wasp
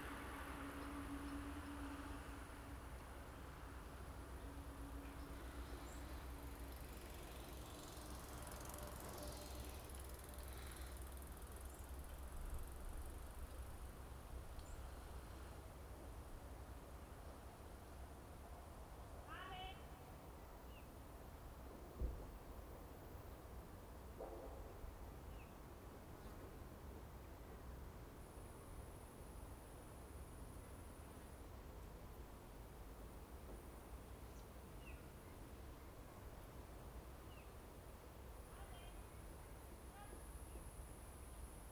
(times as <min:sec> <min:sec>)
0:05.3 0:13.5